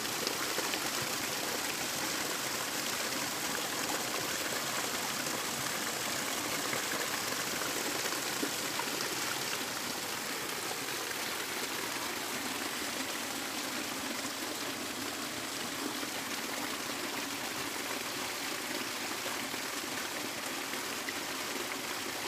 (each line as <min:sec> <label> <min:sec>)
0:00.0 waterfall and creek 0:22.2